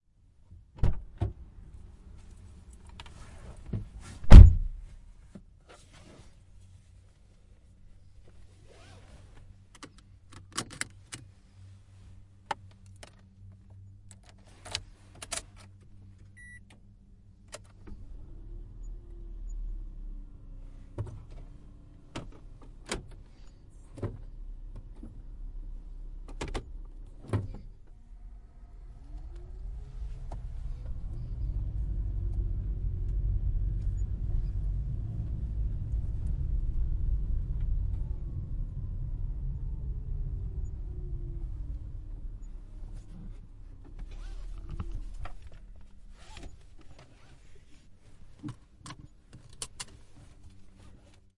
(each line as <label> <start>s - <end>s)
driver enters car 2.9s - 5.4s
closes door 4.2s - 4.7s
puts on seatbelt 42.9s - 51.3s